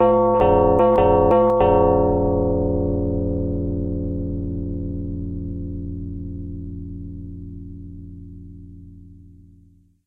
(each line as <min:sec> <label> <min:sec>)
0:00.0 Impatient doorbell ringing 0:04.3